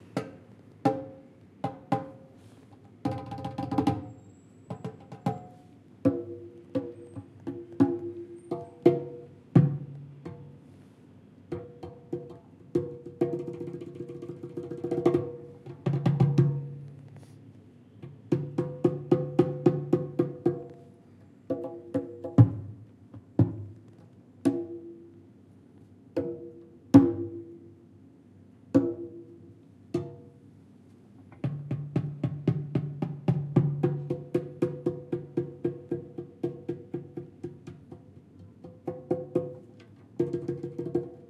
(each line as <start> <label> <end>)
0.9 Playing various Asian drums 2.2
3.0 Playing various Asian drums 4.1
4.7 Playing various Asian drums 10.6
11.5 Playing various Asian drums 16.8
18.1 Playing various Asian drums 20.7
21.5 Playing various Asian drums 22.8
24.5 Playing various Asian drums 24.9
26.2 Playing various Asian drums 27.5
31.4 Playing various Asian drums 41.2